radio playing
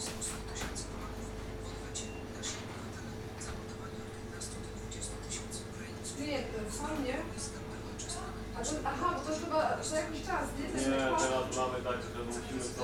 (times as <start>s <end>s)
0.0s 8.1s